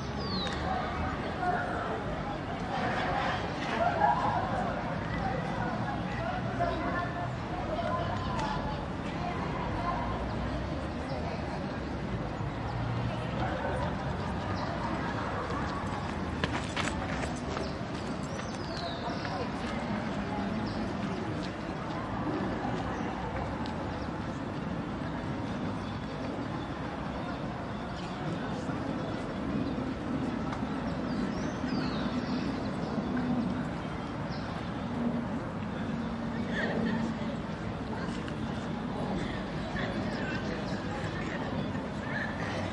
0.0s nearby students hanging out spanish 42.7s
0.0s people and groups walk by steps 42.7s

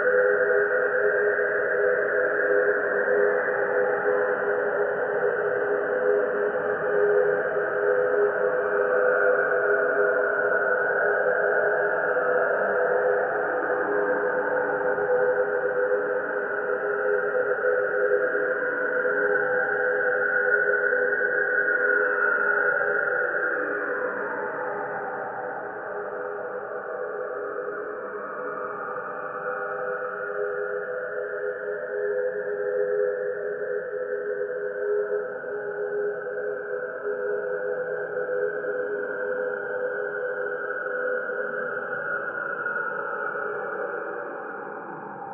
0.0s slowly evolving ambient drone pad 45.3s

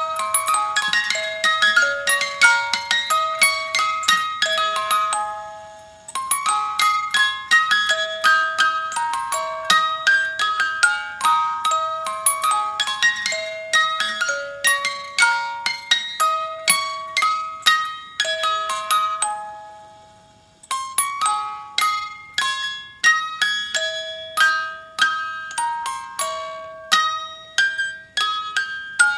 0.0s wind up toy 29.1s

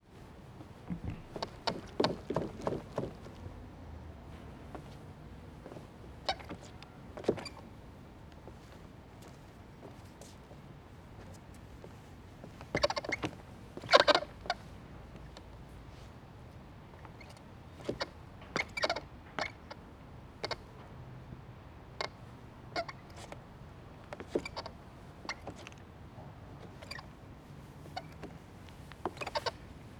0.6s Creaks of planks 3.4s
0.6s footsteps 3.5s
5.6s Creaks of planks 7.6s
12.6s Creaks of planks 14.6s
17.0s Creaks of planks 19.8s
24.0s Creaks of planks 25.9s
26.6s Creaks of planks 27.2s
27.8s Creaks of planks 28.4s
29.0s Creaks of planks 29.6s

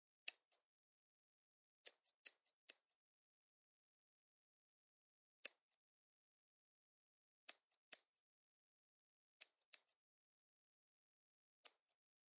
0.2s scissors 0.7s
1.8s scissors 3.0s
5.4s scissors 5.8s
7.5s scissors 8.2s
9.4s scissors 10.0s
11.6s scissors 12.0s

